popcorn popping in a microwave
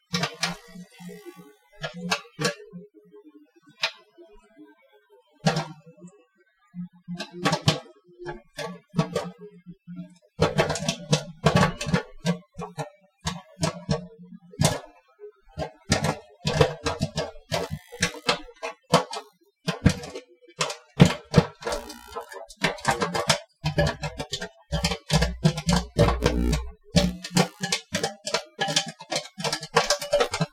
10.4s 14.8s, 15.6s 30.5s

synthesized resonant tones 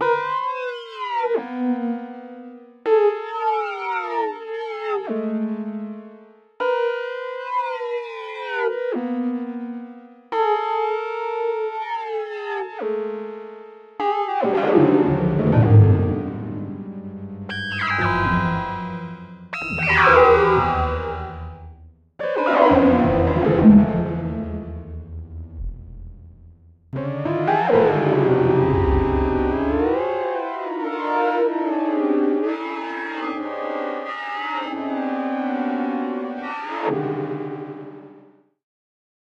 19.6s 21.8s, 22.6s 26.7s, 27.7s 30.4s

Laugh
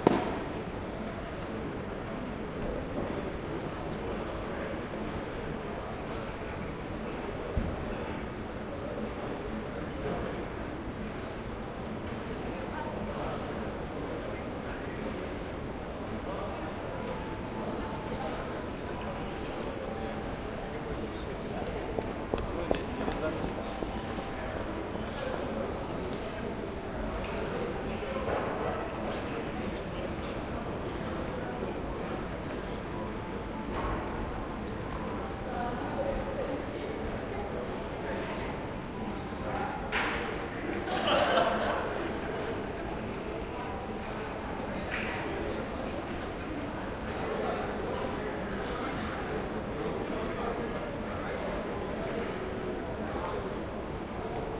40.8s 41.8s

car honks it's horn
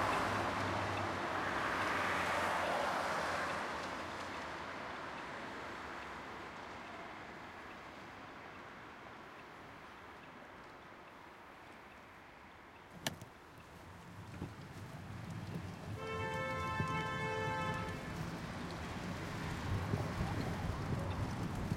15.9s 18.3s

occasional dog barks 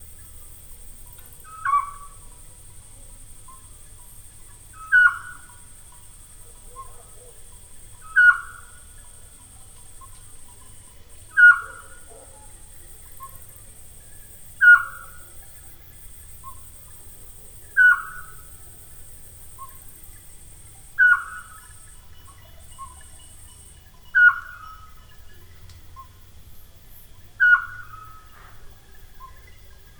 6.6s 7.5s, 11.4s 13.4s

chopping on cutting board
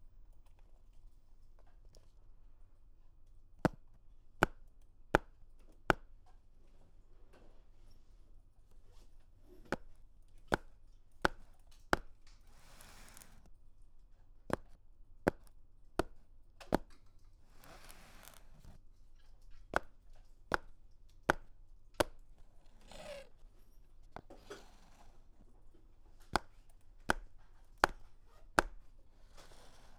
27.1s 28.8s

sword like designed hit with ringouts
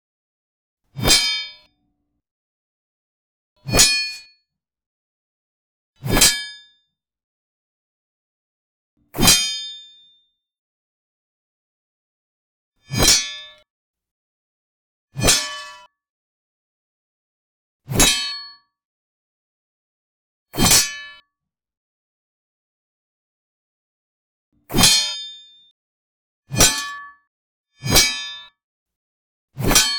29.6s 29.9s

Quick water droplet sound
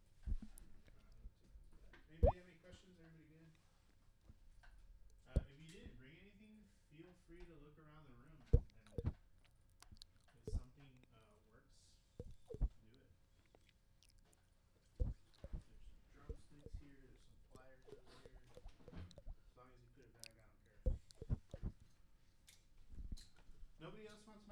8.6s 9.2s, 12.2s 12.8s, 17.5s 19.4s, 20.9s 21.7s

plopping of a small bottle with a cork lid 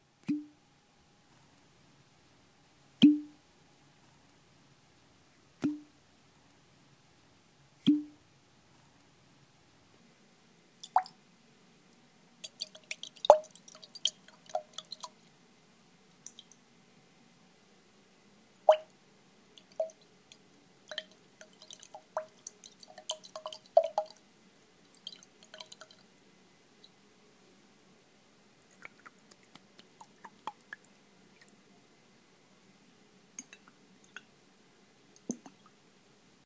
3.0s 3.3s, 7.8s 8.1s

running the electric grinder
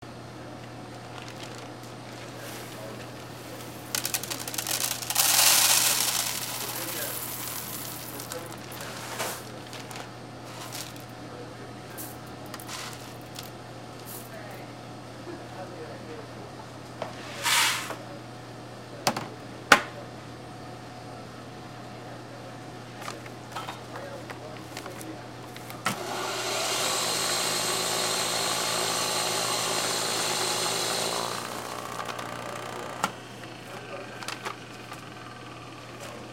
3.9s 8.7s, 25.9s 33.2s

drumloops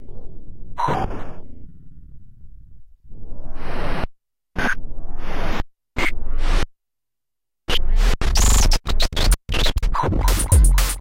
9.8s 11.0s

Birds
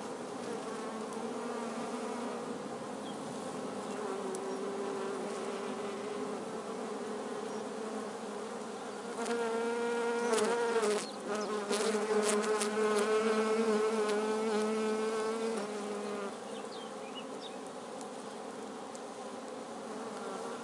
2.9s 4.8s, 7.0s 18.6s

